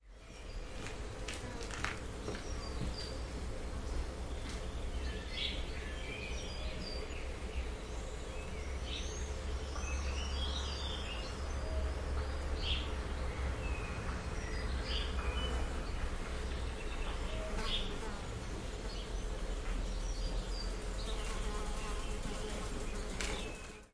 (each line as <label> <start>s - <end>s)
birds 0.0s - 23.9s
bees 0.1s - 23.9s